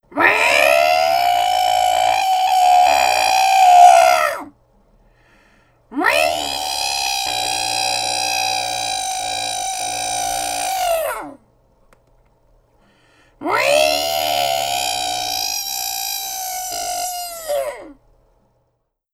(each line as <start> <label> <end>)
0.1 Human imitation 4.5
0.1 screeching cat 4.5
5.9 Human imitation 11.4
6.0 screeching cat 11.4
13.4 screeching cat 18.0
13.4 Human imitation 18.0